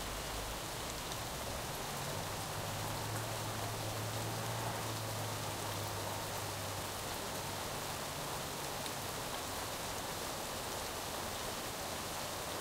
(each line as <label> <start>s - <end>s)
rain 0.0s - 12.6s
vehicle noises 0.1s - 9.0s